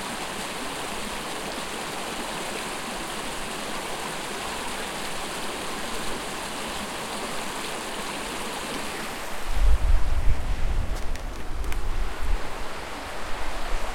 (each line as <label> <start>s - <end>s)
stream flowing 0.0s - 13.9s